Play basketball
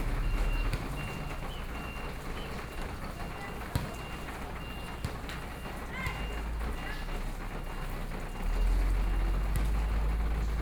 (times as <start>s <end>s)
0.2s 8.5s